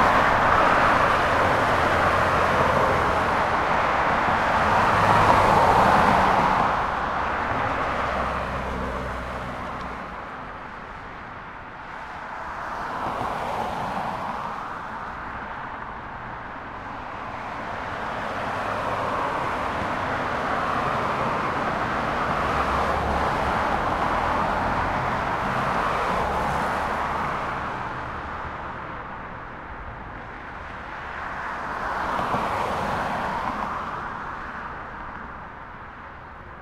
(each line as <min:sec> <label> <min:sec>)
0:00.0 Traffic Under Bridge 0:36.6